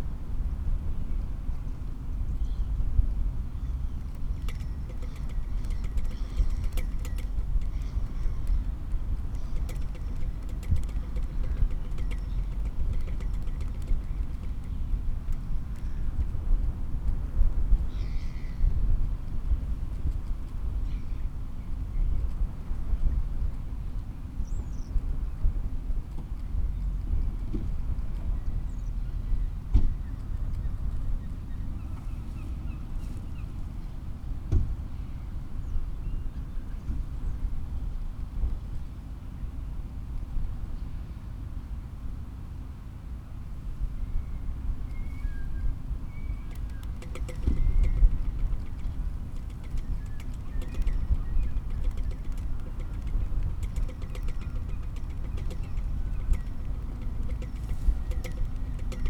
blustery wind 0.0 - 59.0
Pinging flagpole 46.3 - 59.0

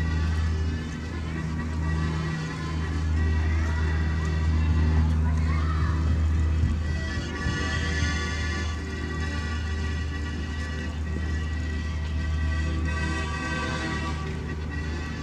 People 0.0 - 15.2

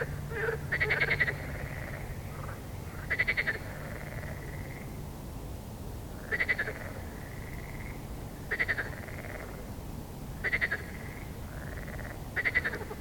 frog song 0.0 - 5.0
frog song 6.2 - 9.7
frog song 10.4 - 13.0

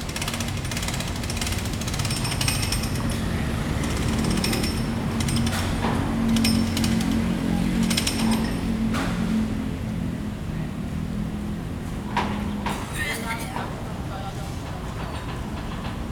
Construction Sound 0.0 - 10.0
traffic sound 0.0 - 16.1
Construction Sound 11.8 - 16.1

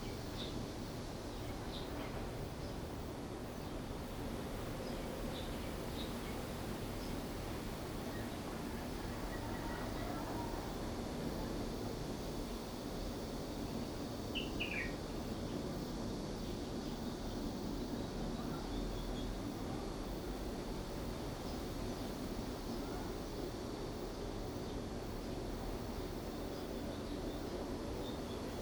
wind 0.0 - 28.6

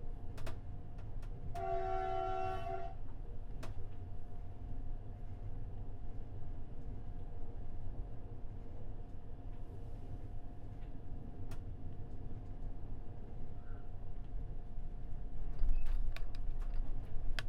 two men working on the door in the train 0.0 - 17.4

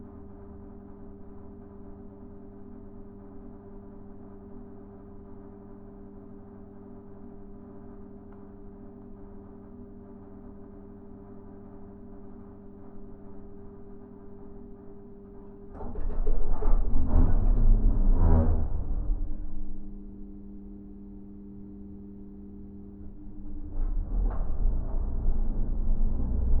Elevator 8.9 - 26.6

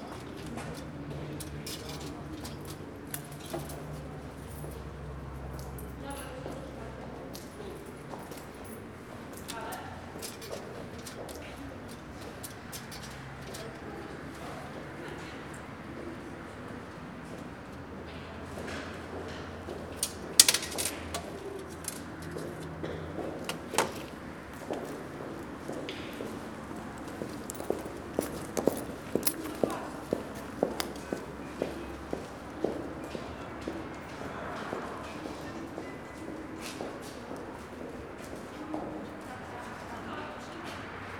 people gathered around a ticket machine 0.0 - 41.1
ticket machine 20.0 - 22.8

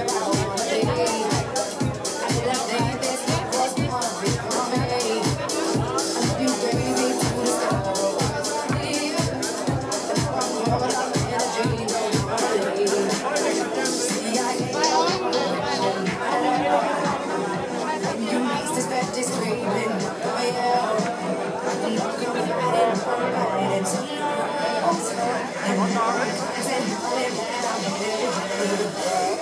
partying people 0.0 - 29.4

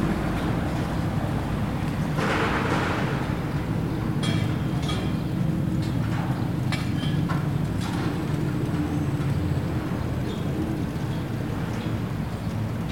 trafic car 0.0 - 12.9

